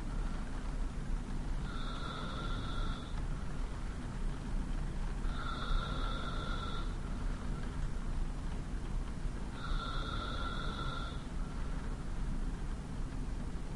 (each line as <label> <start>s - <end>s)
breath 1.6s - 3.2s
breath 5.3s - 7.8s
breath 9.6s - 12.0s